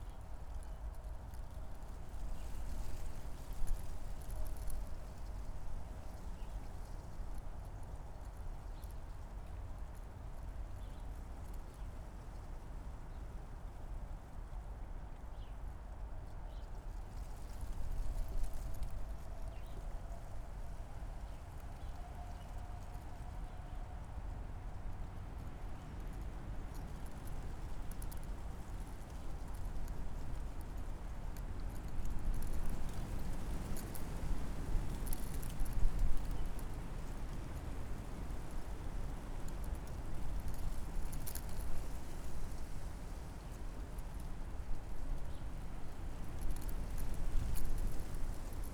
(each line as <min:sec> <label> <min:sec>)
0:16.4 wind in poplar trees 0:48.7